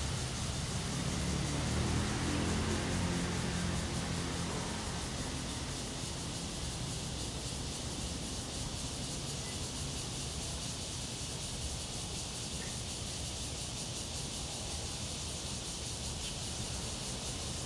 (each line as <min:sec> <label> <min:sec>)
0:00.0 Traffic Sound 0:09.4
0:00.0 Cicadas cry 0:17.6